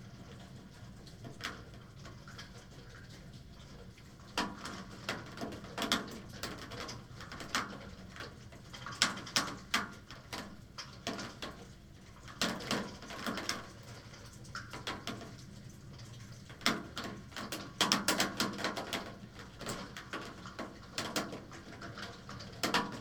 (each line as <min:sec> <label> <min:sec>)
0:00.4 water dropping on different window sills 0:23.0